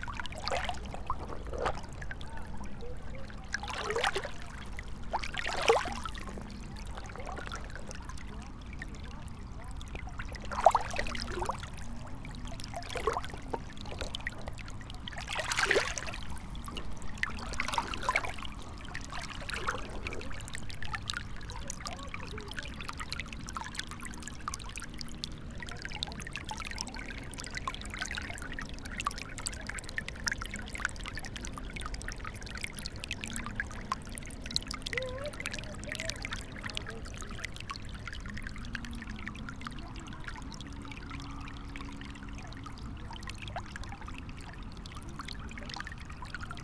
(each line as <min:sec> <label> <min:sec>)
0:00.0 river 0:46.6